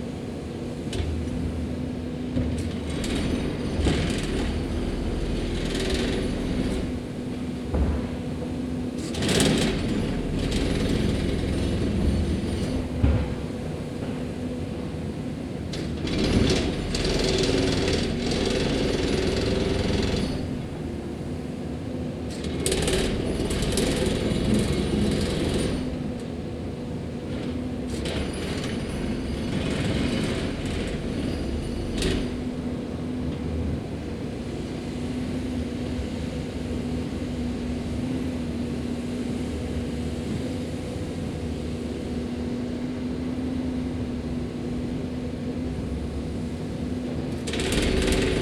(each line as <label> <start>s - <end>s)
Road crew working to resurface a residential street 0.0s - 48.4s
Jackhammer 2.9s - 6.9s
Jackhammer 9.0s - 12.9s
Jackhammer 15.7s - 20.6s
Jackhammer 22.3s - 26.0s
Jackhammer 27.4s - 32.4s
Jackhammer 47.4s - 48.4s